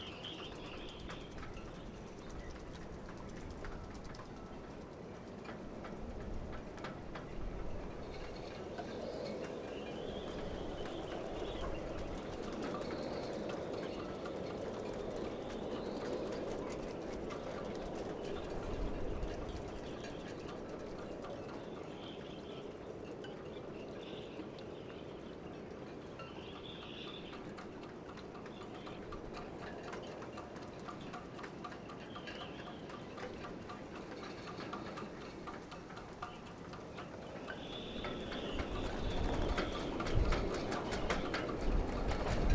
wind blows through the riggings of the ships 0.0 - 42.5

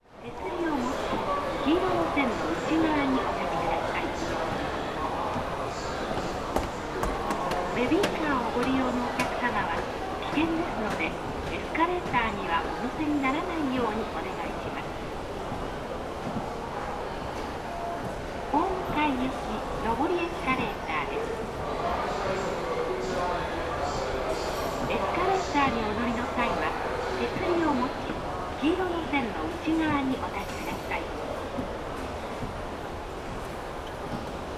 hundreds passengers voices 0.0 - 34.5
announcements 0.1 - 16.4
faint thumps of escalator steps 0.1 - 34.5
announcements 18.4 - 22.5
announcements 23.1 - 31.3

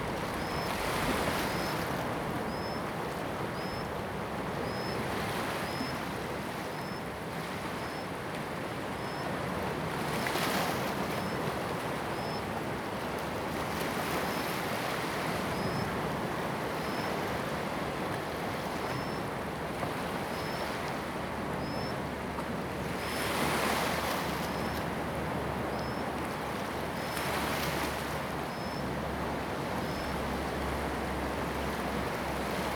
waves 0.0 - 32.7

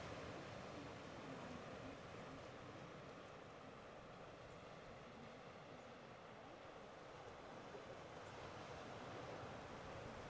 sea 0.0 - 10.2
wind 0.0 - 10.2

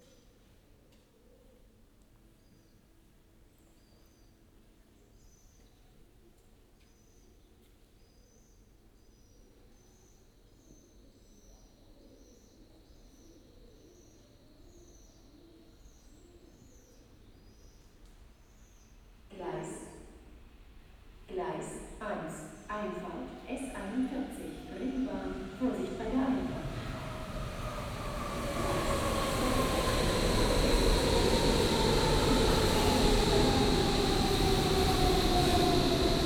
trains 17.9 - 36.2
announcements 19.3 - 20.1
announcements 21.3 - 27.2

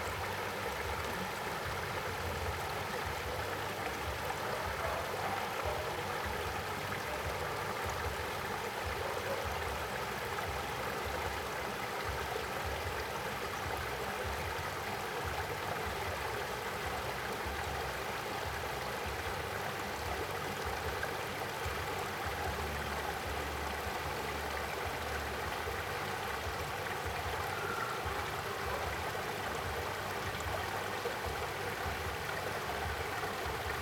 stream 0.0 - 33.8
Dog barking 4.3 - 6.2
Dog barking 9.0 - 9.6
frogs chirp 27.1 - 30.8

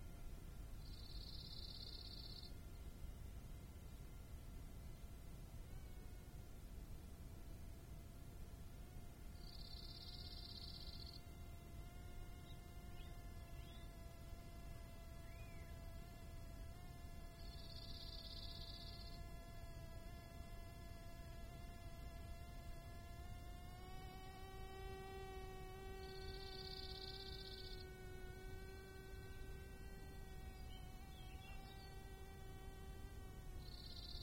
Large Bee Fly 0.0 - 34.2
slight breeze 0.0 - 34.2
stridulating Acrida mediterranea (grasshopper) 0.0 - 34.2

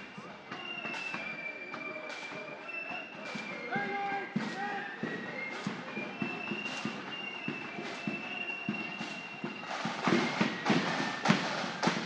groups of people 0.0 - 12.0
marching bands 0.0 - 12.0
whistles 0.0 - 12.0
children play their own drum kits 1.8 - 12.0

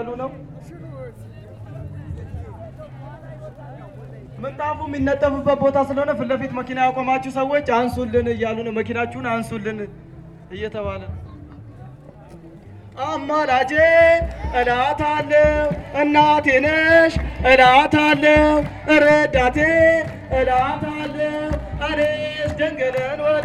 homme qui chante au micro 0.0 - 23.4
jouent successivement du tambour 7.8 - 23.4
chantent a cappella 13.0 - 23.4

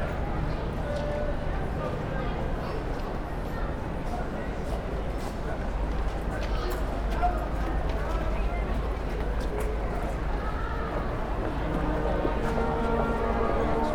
buskers playing Christmas Carols 10.6 - 13.9

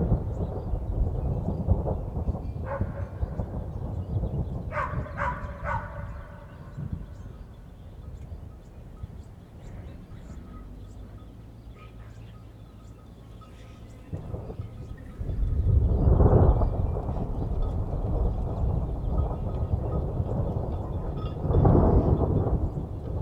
rain 0.0 - 7.6
thunders are clapping 0.0 - 9.2
dogs are barking 2.6 - 3.5
dogs are barking 4.7 - 6.8
thunders are clapping 14.0 - 23.2
rain 14.1 - 23.2

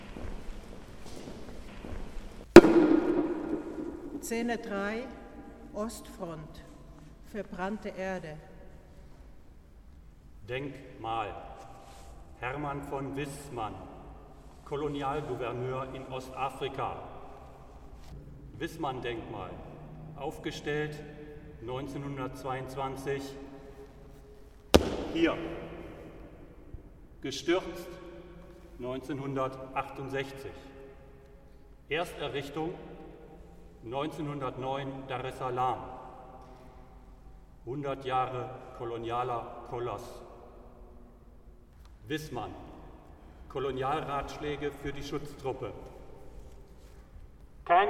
Echos 2.6 - 5.8
Echos 24.8 - 27.2

